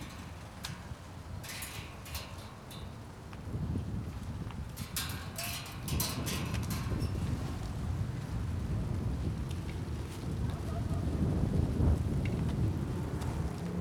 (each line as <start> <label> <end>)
0.0 fence of the construction site rattles in the wind 13.8
0.0 pieces of wrap flutter in the strong wind 13.8
6.6 speeding motor bike roars over the city 13.8